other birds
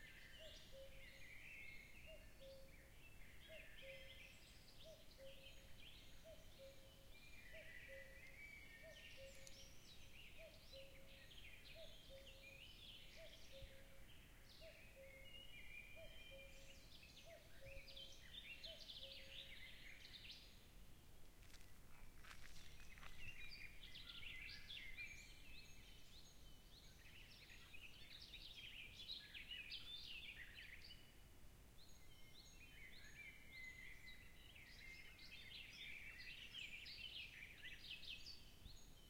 21.4 31.0

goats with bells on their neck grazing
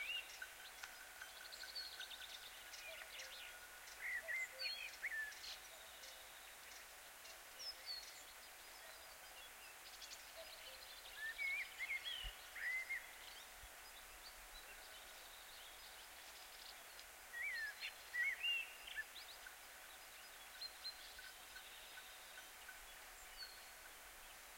0.4 4.0

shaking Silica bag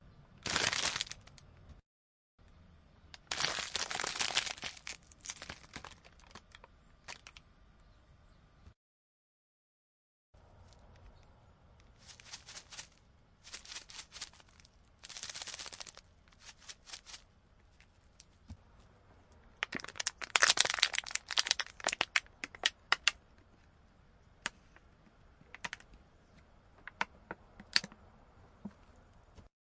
12.0 17.2

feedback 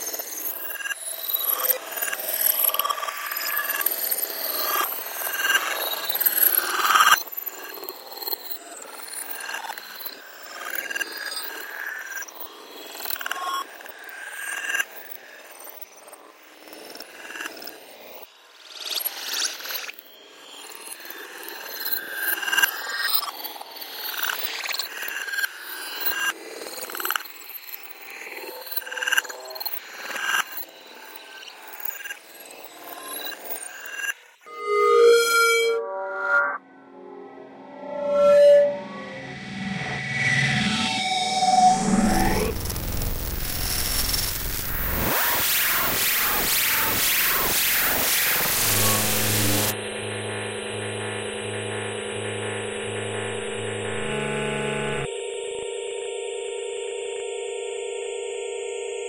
34.5 55.1

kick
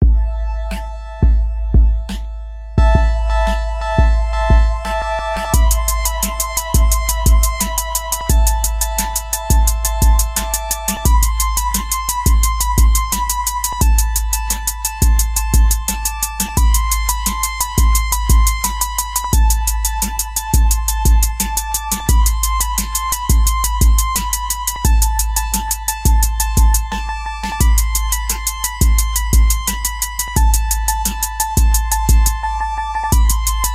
1.2 5.0

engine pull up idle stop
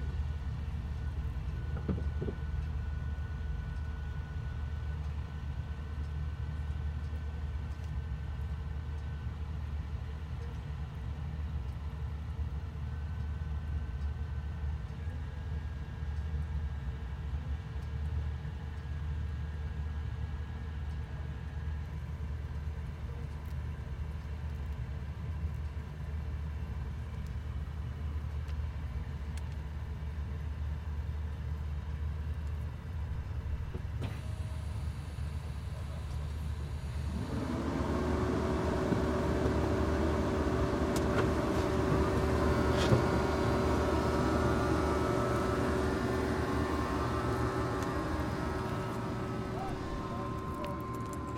33.7 51.3

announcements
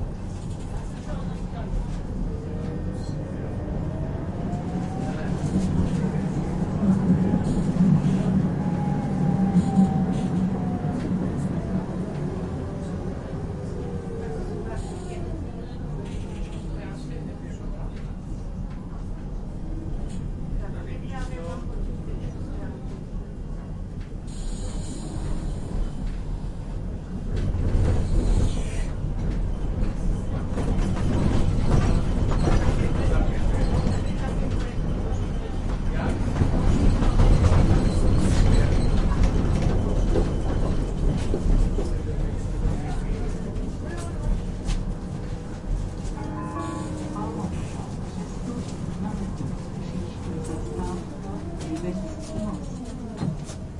46.0 53.0

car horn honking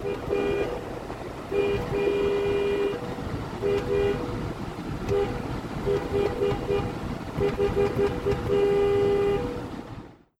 0.0 0.9, 1.5 3.0, 3.6 4.3, 5.0 9.6

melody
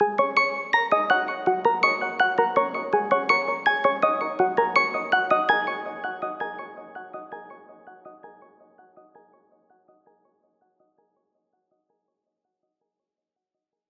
0.0 7.2

